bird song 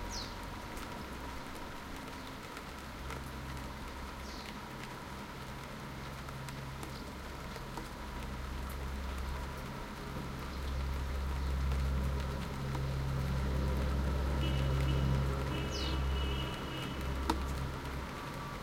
15.5s 16.5s

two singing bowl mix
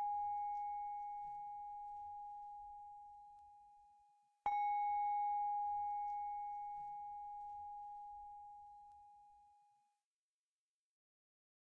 4.5s 9.3s

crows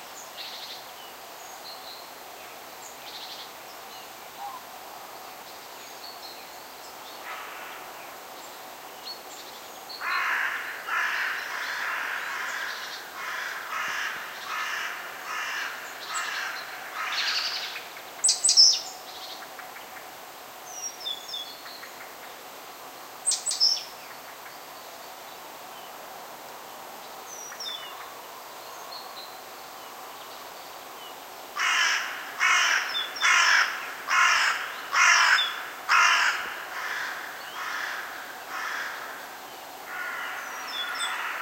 7.2s 8.0s, 10.0s 17.8s, 31.6s 41.4s

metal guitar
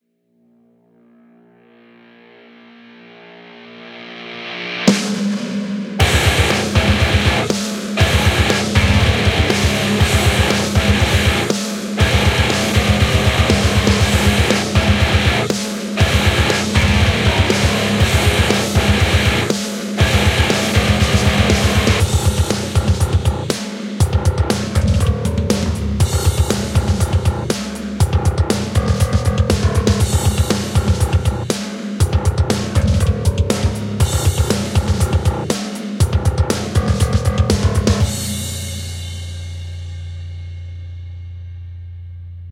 6.0s 39.4s

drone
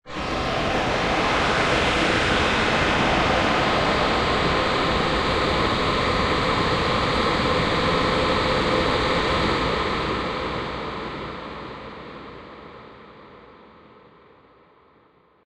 0.1s 12.4s

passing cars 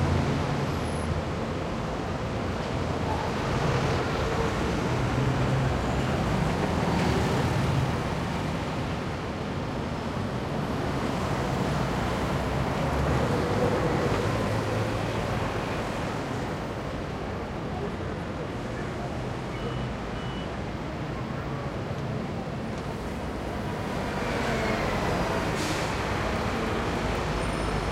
21.4s 27.9s

